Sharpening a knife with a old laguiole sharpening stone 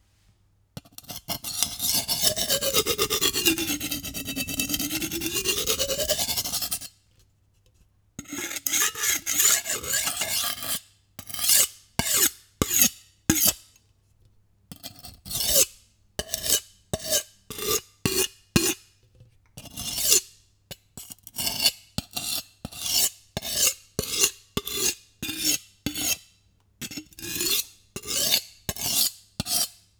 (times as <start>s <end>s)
1.4s 6.9s, 8.2s 13.6s, 27.1s 29.8s